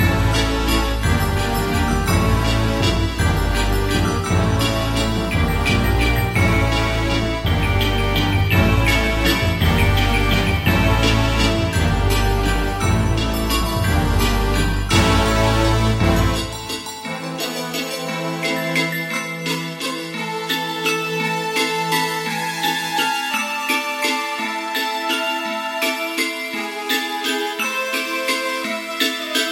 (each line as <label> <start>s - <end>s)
Instrumental 0.0s - 29.5s